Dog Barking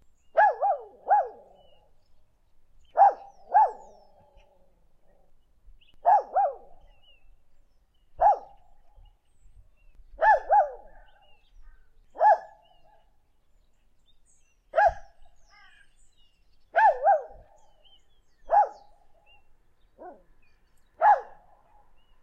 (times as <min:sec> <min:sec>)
0:00.4 0:01.6, 0:02.9 0:04.0, 0:06.0 0:06.8, 0:08.2 0:08.6, 0:10.2 0:11.1, 0:12.2 0:12.6, 0:14.8 0:15.1, 0:16.7 0:17.5, 0:18.5 0:18.9, 0:20.0 0:20.3, 0:21.0 0:21.9